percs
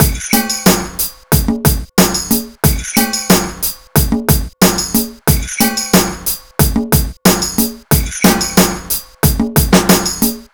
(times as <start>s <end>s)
7.4s 8.9s